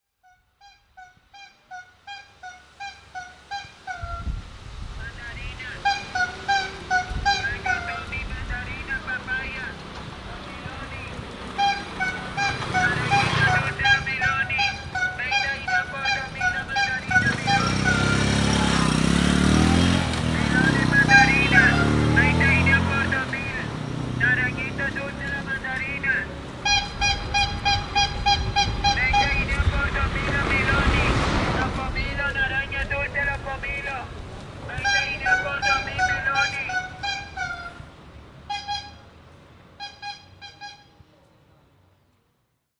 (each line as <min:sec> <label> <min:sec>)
0:05.0 mandarin fruit seller 0:42.4
0:05.0 Peddlers selling Peto 0:37.8